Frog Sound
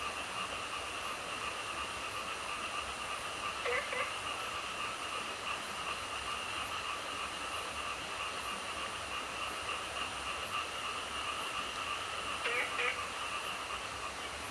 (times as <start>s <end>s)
3.6s 4.2s, 12.2s 14.2s